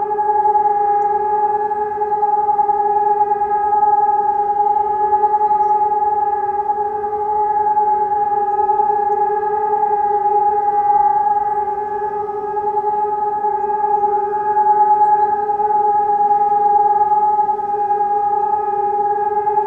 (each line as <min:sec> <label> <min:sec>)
0:00.0 siren test 0:19.6